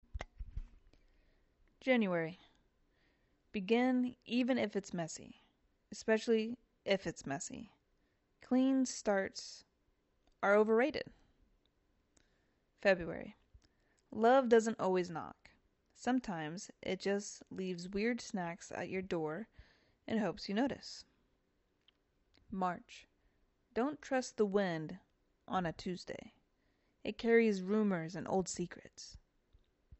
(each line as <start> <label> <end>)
10.4 Voiceover 11.0
12.8 Voiceover 13.4
20.1 Voiceover 21.0